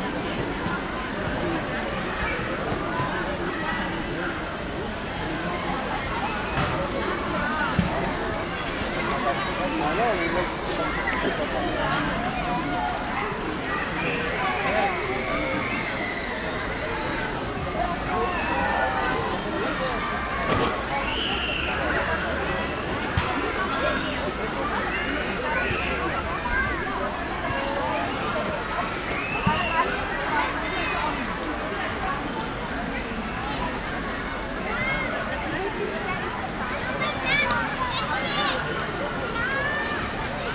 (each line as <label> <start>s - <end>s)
full of people 0.0s - 40.5s